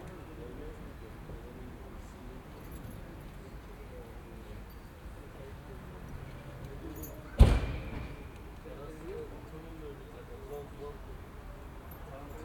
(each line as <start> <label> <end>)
6.6 two men opened this entry and went down 8.6